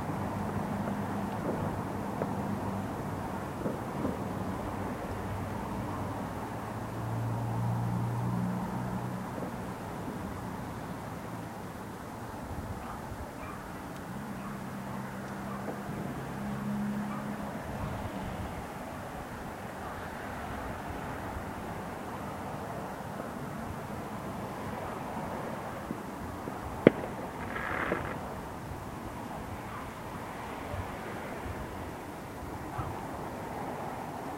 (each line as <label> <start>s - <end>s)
Fireworks exploding 3.5s - 4.8s
Fireworks exploding 25.8s - 28.8s